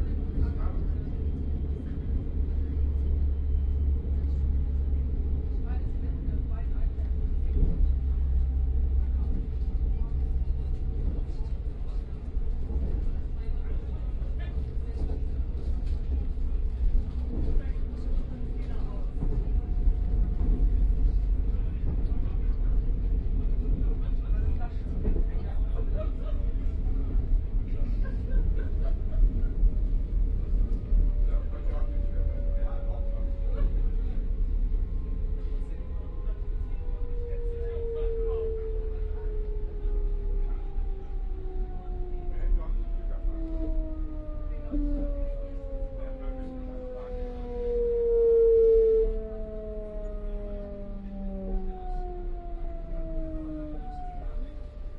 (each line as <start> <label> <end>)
0.0 people talking and laughing 47.3
0.0 breaking and starting noises on this commuter train 54.9
30.4 announcements 54.9